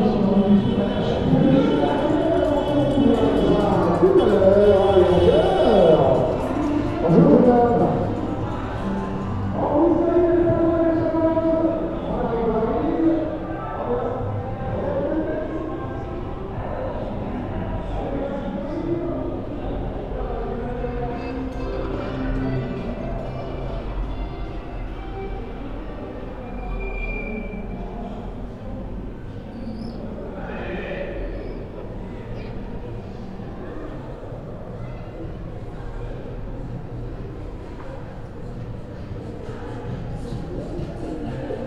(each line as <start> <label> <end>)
0.0 advertising and promotional vehicle cavalcade 41.6